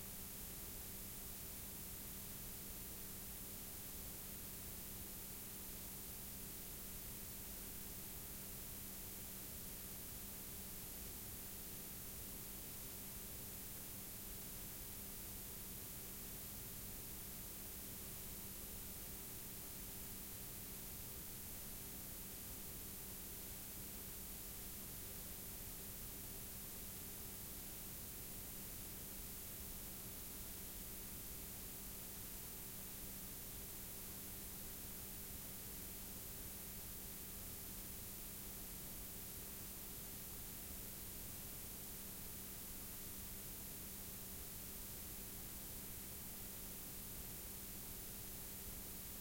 Background noise of a blank k7 tape 0.0 - 49.2

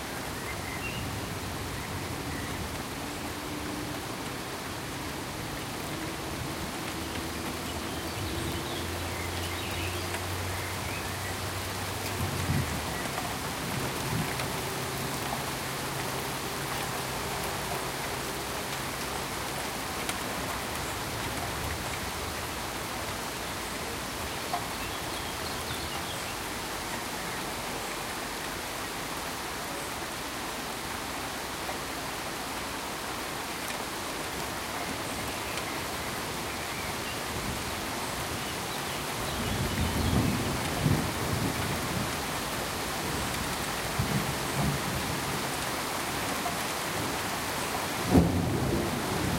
Heavy steady Rain 0.0 - 49.3
gently rolling thunder 48.0 - 49.3

